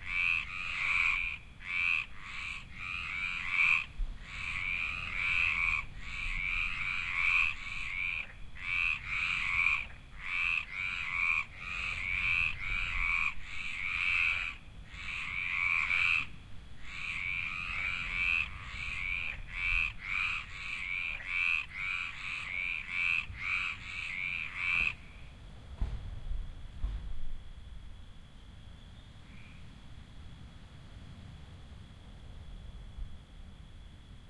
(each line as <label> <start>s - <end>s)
symphony of frogs 0.0s - 25.6s
symphony of frogs 26.4s - 34.2s